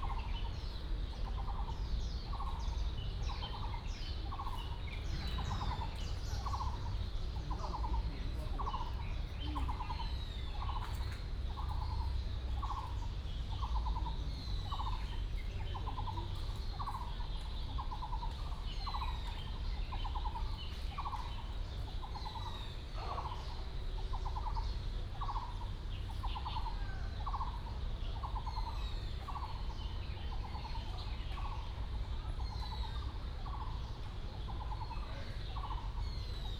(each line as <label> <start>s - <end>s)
Birds sound 0.0s - 36.5s